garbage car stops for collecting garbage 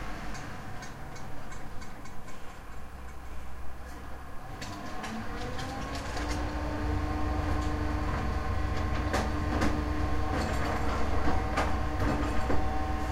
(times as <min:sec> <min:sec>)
0:03.7 0:13.1